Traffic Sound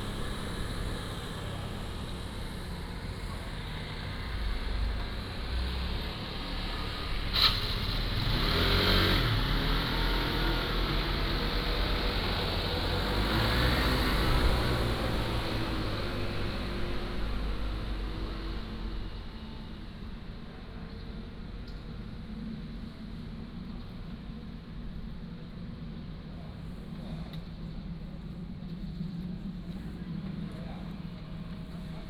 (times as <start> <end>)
0.0 22.5